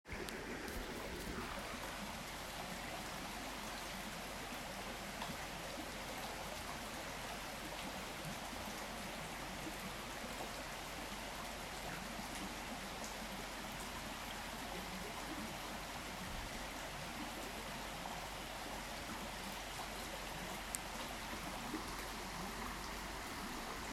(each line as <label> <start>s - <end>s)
river flowing 0.1s - 23.9s
waterfall 0.1s - 23.9s